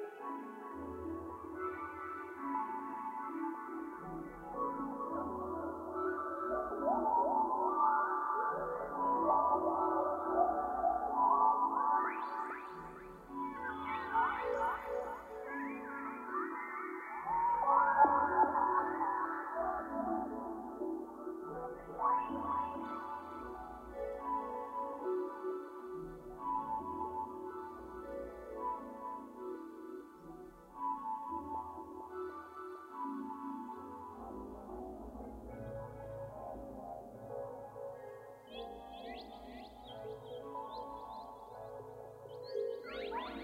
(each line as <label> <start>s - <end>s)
synth 0.0s - 43.4s